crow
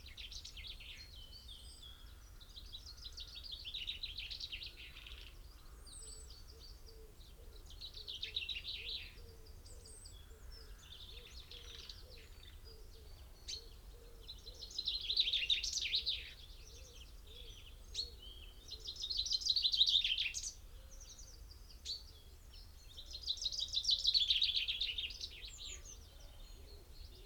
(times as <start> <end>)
9.8 12.9